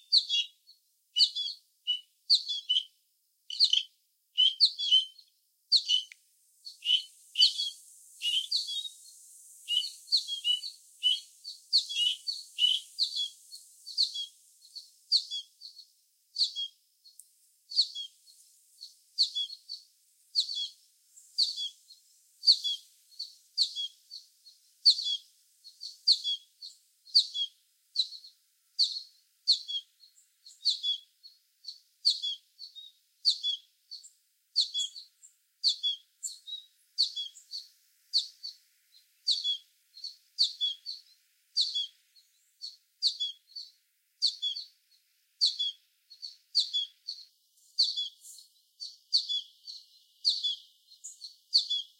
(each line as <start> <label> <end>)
0.0 Birdsong 51.9